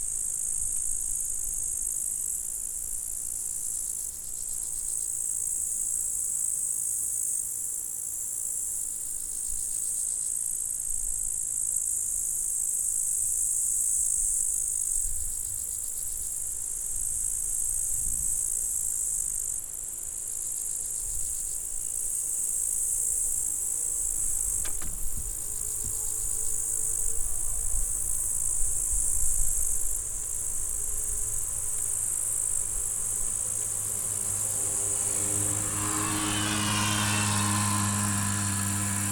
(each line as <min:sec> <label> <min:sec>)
0:20.9 scooter en montée 0:39.1